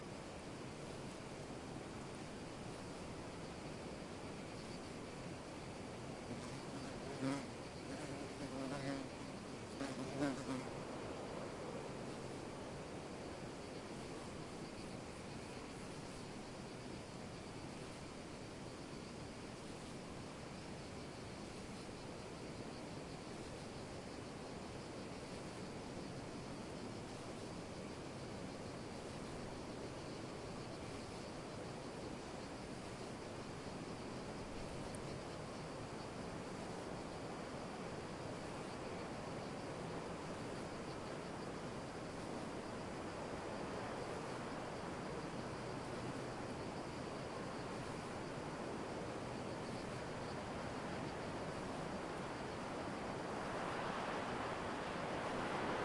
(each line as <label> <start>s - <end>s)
millions of crickets are chirping 0.0s - 55.8s
wind 0.0s - 55.8s
bumble-bee flies by the mics 6.3s - 10.9s